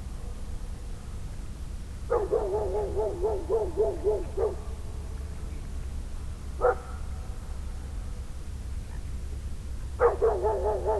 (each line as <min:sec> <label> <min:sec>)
0:02.1 echoing dog 0:04.7
0:06.6 echoing dog 0:07.0
0:10.0 echoing dog 0:10.9